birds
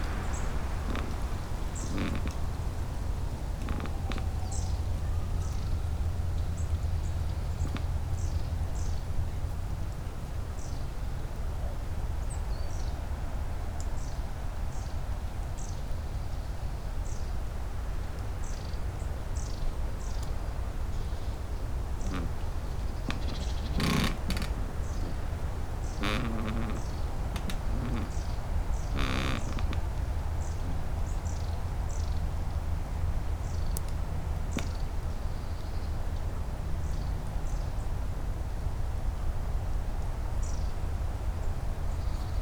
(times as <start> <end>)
0.0 9.4, 19.4 32.6